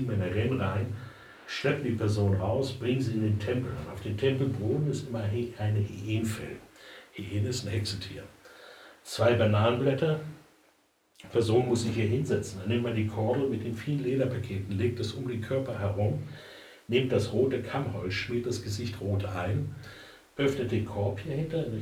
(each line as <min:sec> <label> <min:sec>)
0:00.0 voice of the director 0:08.3